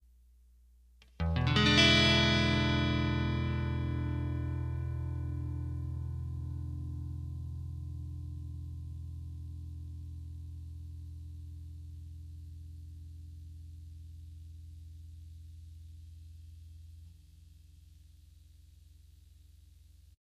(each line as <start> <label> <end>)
1.2 Clean E7 Guitar Chord 12.1